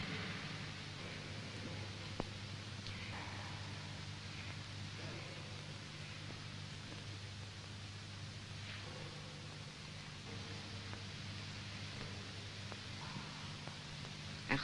Static Radio 0:14.4 - 0:14.6

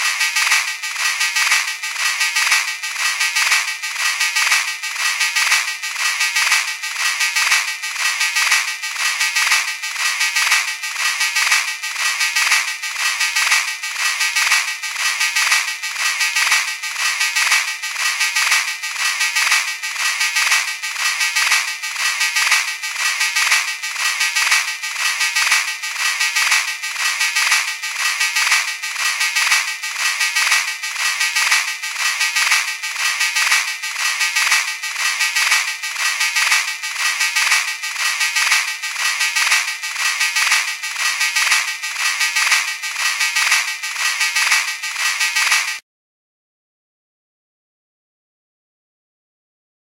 beat 0:00.0 - 0:45.8

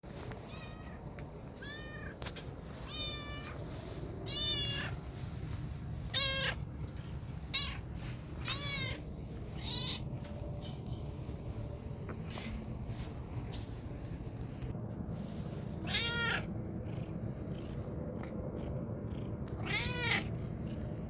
cat meowing 0:00.4 - 0:02.2
cat meowing 0:02.8 - 0:05.1
cat meowing 0:06.1 - 0:06.6
cat meowing 0:07.4 - 0:10.2
cat meowing 0:15.8 - 0:16.5
purr 0:16.4 - 0:21.0
cat meowing 0:19.6 - 0:20.3

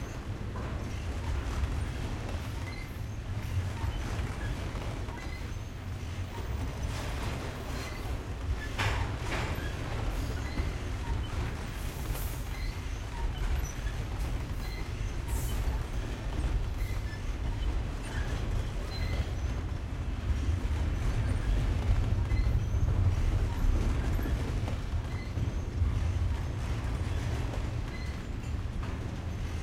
long freight train 0:00.0 - 0:29.6

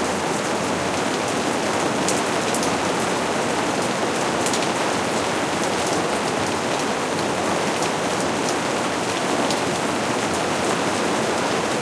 rain falling on a plastic greenhouse roof 0:00.0 - 0:11.8

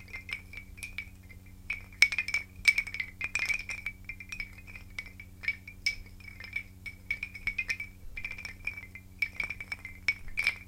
wooden chimes 0:00.0 - 0:10.6

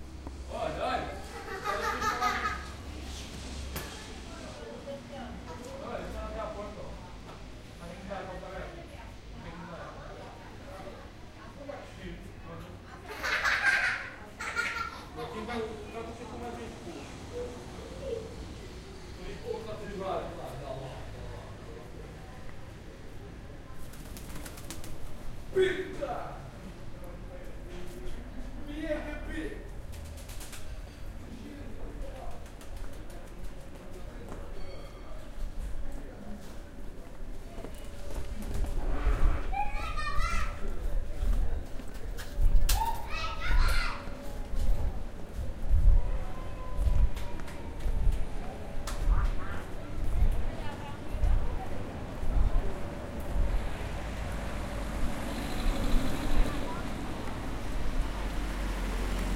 traffic 0:00.0 - 0:59.3
laughing children 0:01.2 - 0:03.0
laughing children 0:12.9 - 0:16.1
laughing children 0:39.6 - 0:40.7
laughing children 0:42.7 - 0:44.2

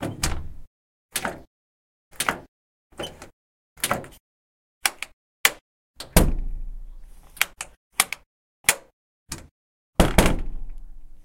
Open close lock unlock door 0:01.1 - 0:01.5
Open close lock unlock door 0:02.1 - 0:04.2
Open close lock unlock door 0:04.8 - 0:06.4
Open close lock unlock door 0:07.4 - 0:10.8

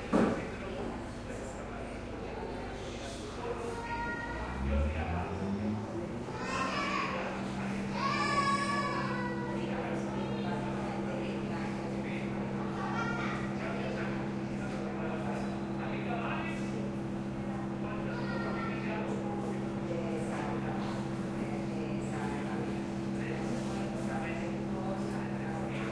plane takeoff 0:04.2 - 0:08.0

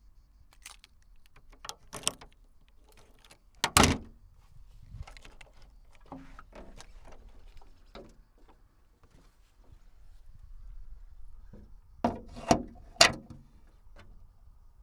Hood opening 0:00.5 - 0:04.1
Hood opening 0:04.8 - 0:08.1

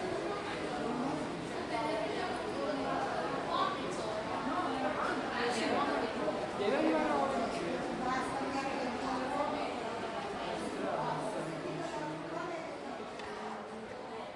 crowd 0:00.0 - 0:14.3

